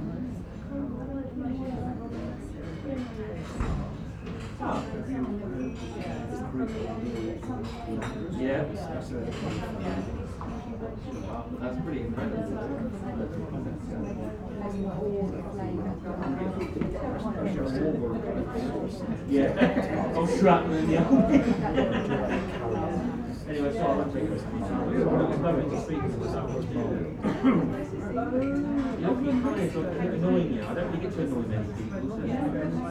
polite english clientelle at lunch 0.0 - 32.9

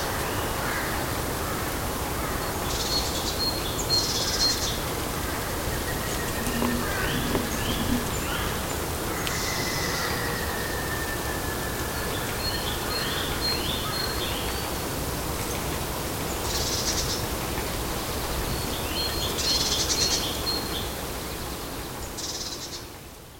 Buzzards 5.5 - 9.6

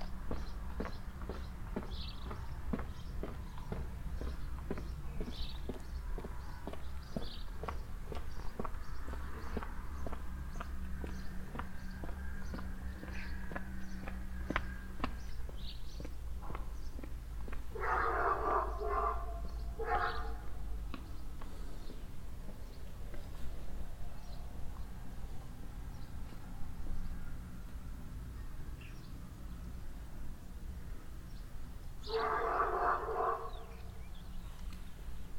boy with a dog 0.0 - 29.3
Passengers walking by on the footwalk 0.0 - 35.3
birds 0.0 - 35.3
distant dog barking 17.7 - 20.7
distant dog barking 32.0 - 33.9
boy with a dog 32.0 - 34.3

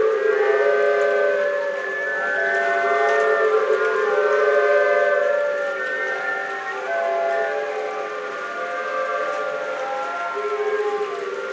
bamboo-flutes orchestra played by the waves 0.0 - 11.5
waves 4.2 - 11.5

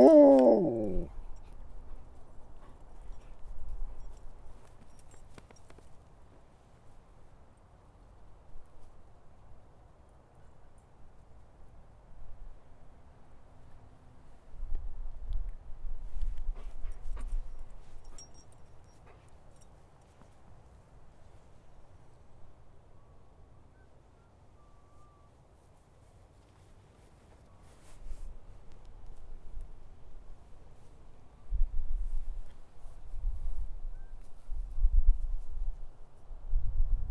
Walking the dog 0.0 - 7.0
Walking the dog 16.1 - 21.4

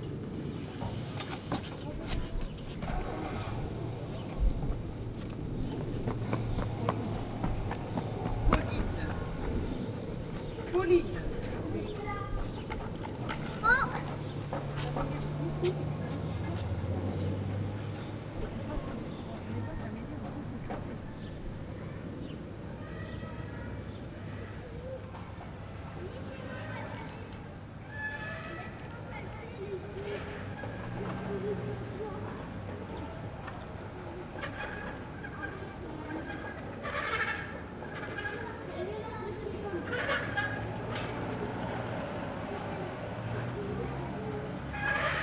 Children playing 1.7 - 45.2

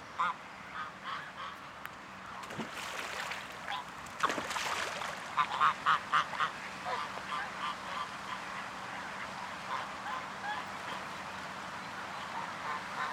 Ducks 0.0 - 13.1
swans 0.0 - 13.1

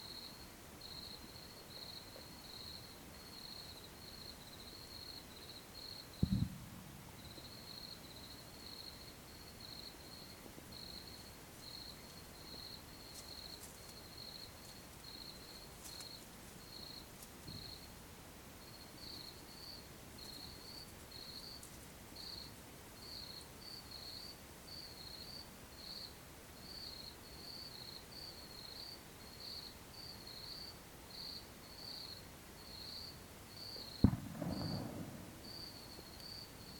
Crickets 0.0 - 36.7
Bird scarers Bombs in the distance 6.2 - 7.4
Bird scarers Bombs in the distance 34.0 - 35.9

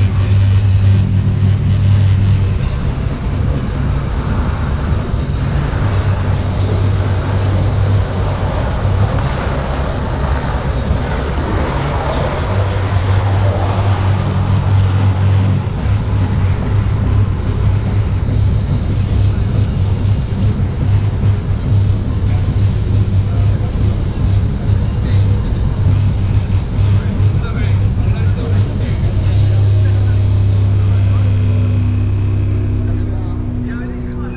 dark metal concert resonating through the venues windows 0.0 - 34.3
skateboarder riding downhill 1.8 - 24.1

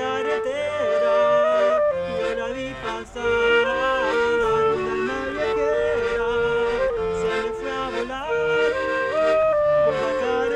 accordion 0.0 - 10.5
clarinet 0.0 - 10.5

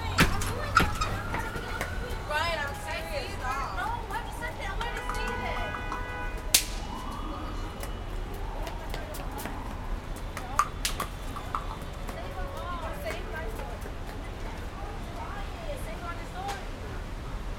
kids throwing bang snaps in the street 0.0 - 3.0
Street sounds 0.0 - 17.5
kids throwing bang snaps in the street 4.0 - 14.9

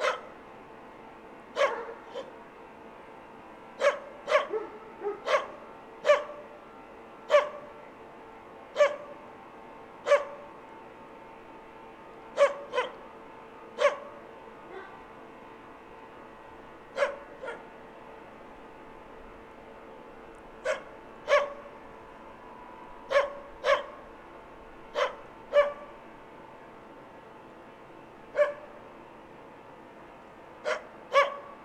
dogs barking at fellow recordist 0.0 - 0.3
dogs barking at fellow recordist 1.6 - 2.3
dogs barking at fellow recordist 3.8 - 6.4
dogs barking at fellow recordist 12.4 - 13.0
dogs barking at fellow recordist 13.8 - 14.1
dogs barking at fellow recordist 20.6 - 21.6
dogs barking at fellow recordist 23.1 - 24.0
dogs barking at fellow recordist 30.6 - 31.4

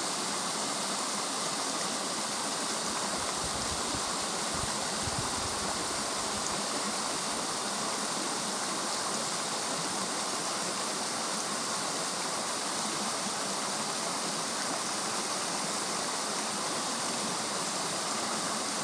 brook in the forest 0.0 - 18.8

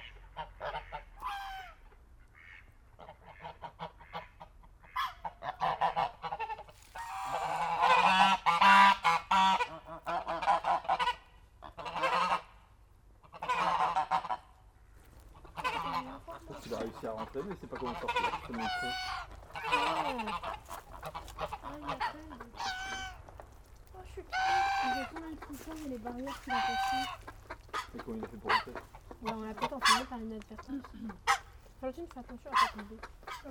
Geese are shouting 0.0 - 33.5

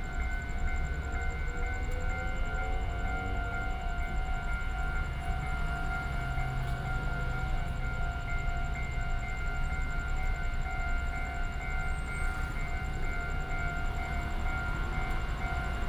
Traffic sound 0.0 - 10.4
The train runs through 0.0 - 15.8

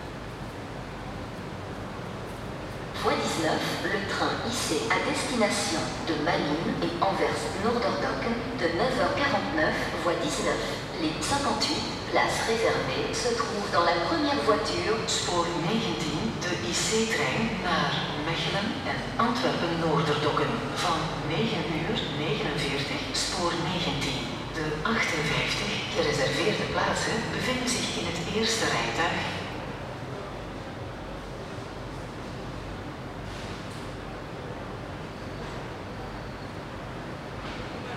Synthetic voices for trains announcement 2.9 - 29.7

